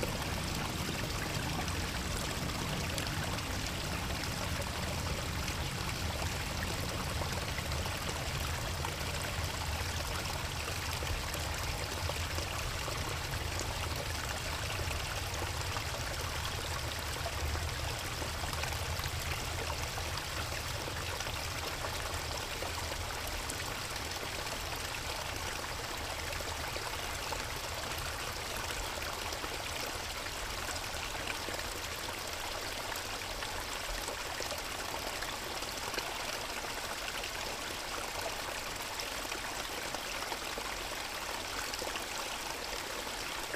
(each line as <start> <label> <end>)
0.0 constant air traffic overhead 25.6
0.0 creek 43.5